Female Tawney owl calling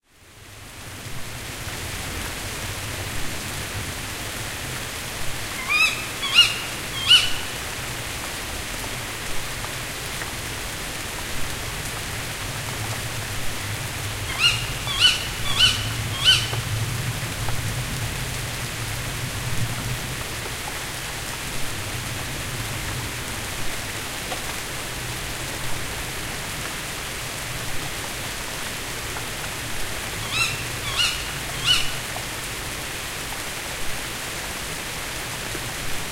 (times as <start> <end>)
5.6 7.6, 14.3 16.6, 30.2 32.0